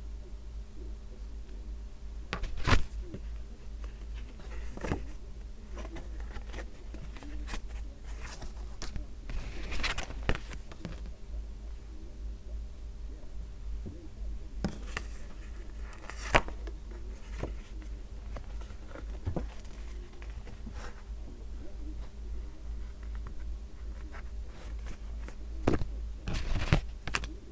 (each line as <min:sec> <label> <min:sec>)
0:02.3 assembling shade cards 0:11.2
0:14.7 assembling shade cards 0:21.1